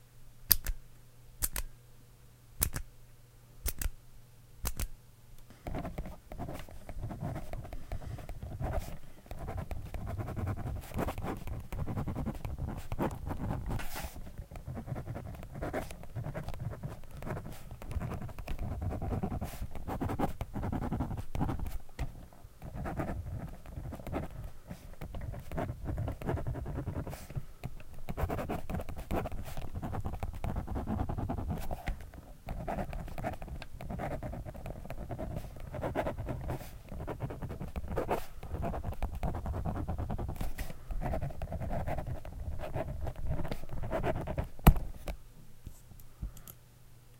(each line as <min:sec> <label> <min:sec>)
0:00.5 Pen click 0:00.8
0:01.4 Pen click 0:01.7
0:02.6 Pen click 0:02.9
0:03.6 Pen click 0:04.0
0:04.6 Pen click 0:05.0
0:05.7 writing 0:21.8
0:22.6 writing 0:44.5